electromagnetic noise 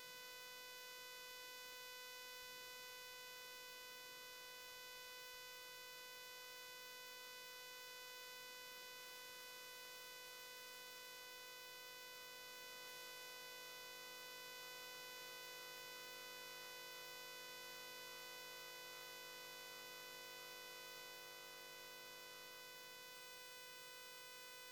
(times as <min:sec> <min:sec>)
0:09.0 0:24.7